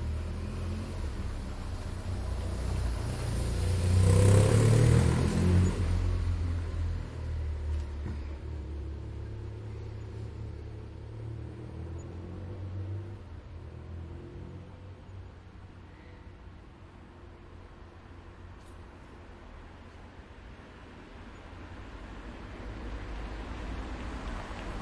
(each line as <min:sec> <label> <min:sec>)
0:00.0 motocycle passing by 0:07.4
0:00.0 quiet traffic 0:24.8